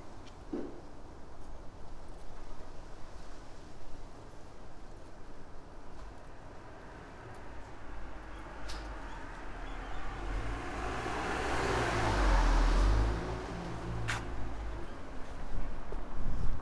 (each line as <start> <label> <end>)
0.0 wind 16.6
13.6 walk 16.6